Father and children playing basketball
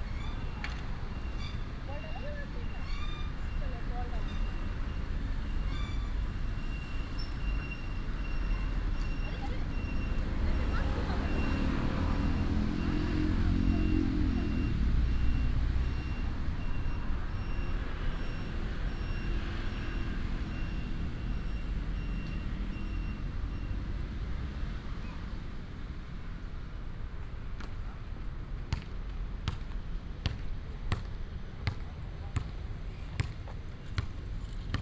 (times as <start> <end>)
28.8 34.8